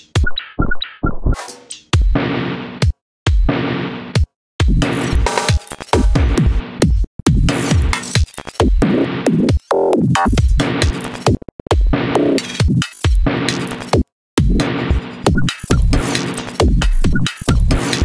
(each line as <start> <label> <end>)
3.5 Glitch Drums 18.0